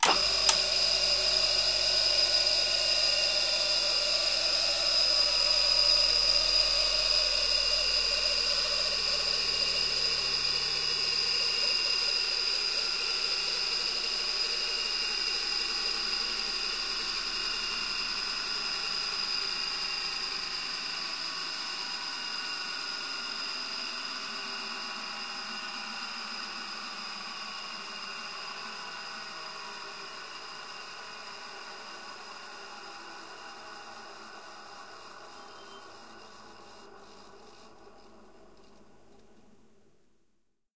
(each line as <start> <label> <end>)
0.0 Electrical bench grinder being started and stopped immediately 38.1